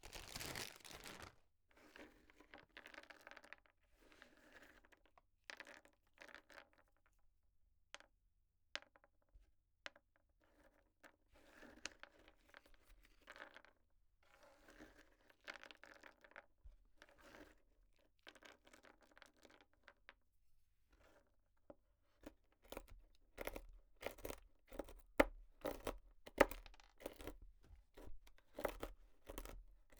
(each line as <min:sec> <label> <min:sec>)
0:22.2 Chopping almonds on plastic cutting board 0:29.9